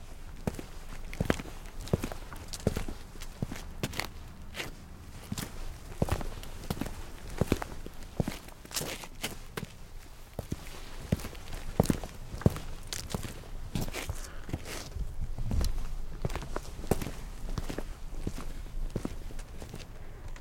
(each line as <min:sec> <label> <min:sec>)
0:00.0 footsteps on concrete 0:19.9